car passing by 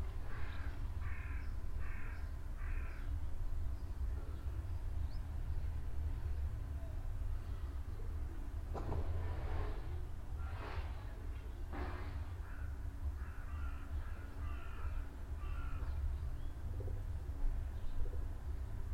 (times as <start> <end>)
8.7 11.1